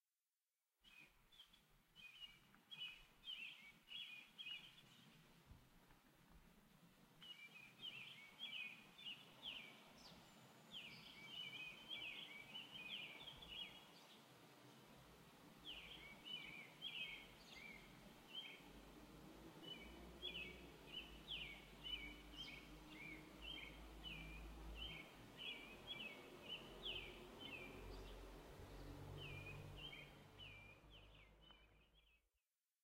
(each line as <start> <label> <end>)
0.8 Three birds singing 5.2
1.9 soft, distant traffic noise 32.1
7.2 Three birds singing 14.3
15.6 Three birds singing 18.7
19.6 Three birds singing 32.2